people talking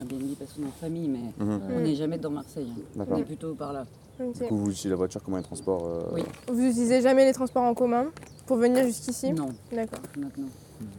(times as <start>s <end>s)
5.4s 10.9s